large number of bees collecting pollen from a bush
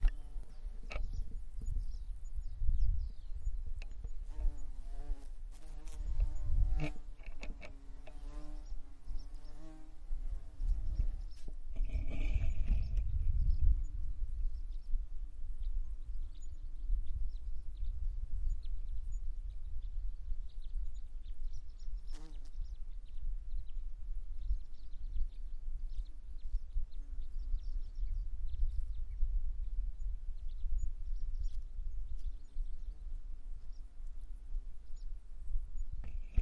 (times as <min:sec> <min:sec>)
0:00.0 0:23.8